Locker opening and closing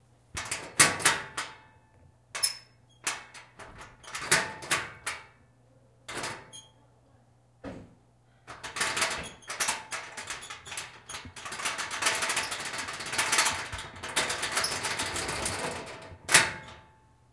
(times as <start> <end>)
8.5 16.9